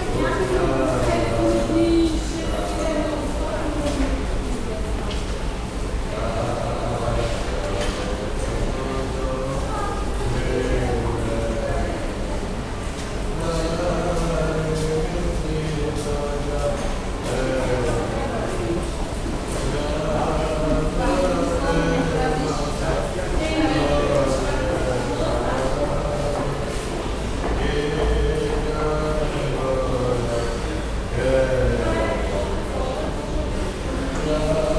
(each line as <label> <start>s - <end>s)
Blind man singing 0.0s - 4.2s
Blind man singing 6.0s - 12.4s
Blind man singing 13.3s - 34.7s